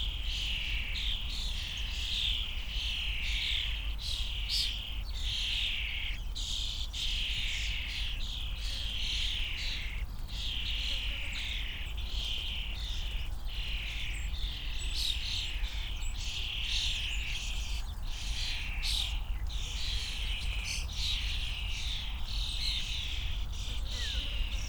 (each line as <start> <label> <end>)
0.0 young starlings (Sturnus vulgaris) tweeting and chatting in a bush 24.6